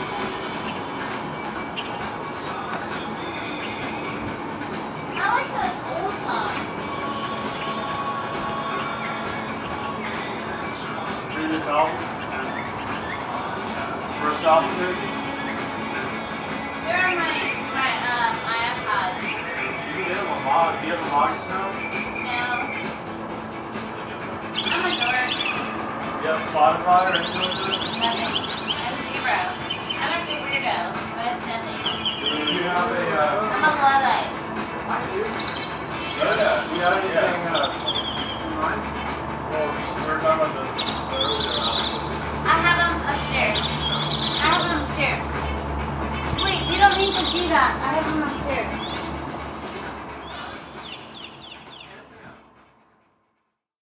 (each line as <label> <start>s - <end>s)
Mockingbird Serenades 0.0s - 52.7s